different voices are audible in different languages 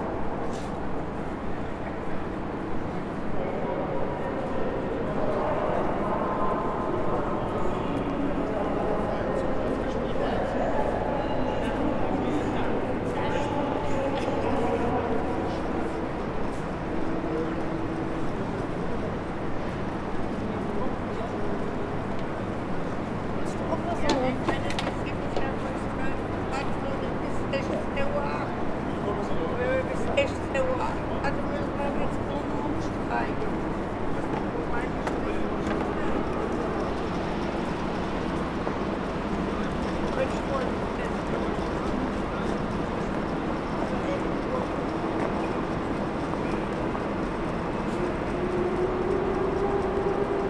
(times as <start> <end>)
19.5 50.4